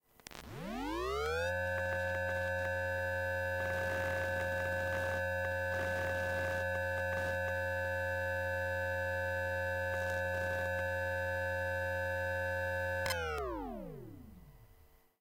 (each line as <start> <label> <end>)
12.9 exterior hard drive switching on and off 14.6